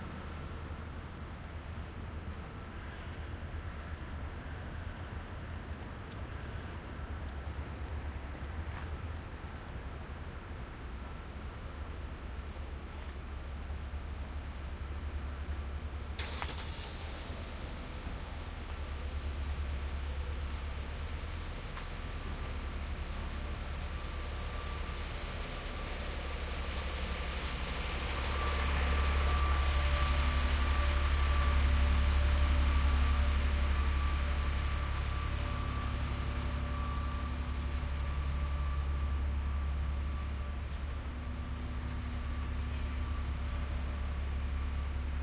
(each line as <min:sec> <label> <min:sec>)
0:00.0 traffic 0:45.2
0:14.5 large machine starts then drives by 0:45.2